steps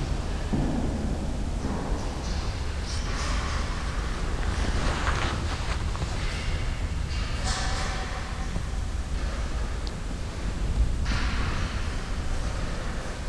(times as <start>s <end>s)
2.9s 7.6s